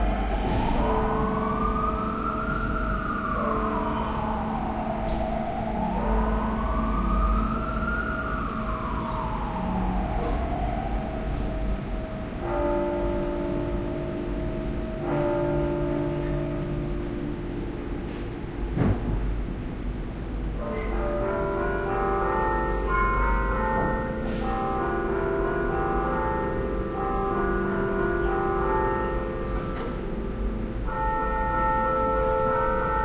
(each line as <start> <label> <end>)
0.0 church bell 33.0